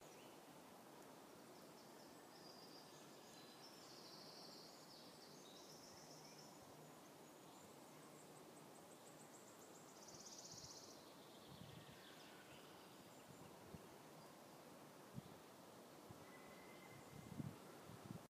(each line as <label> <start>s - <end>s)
birds singing 16.2s - 17.5s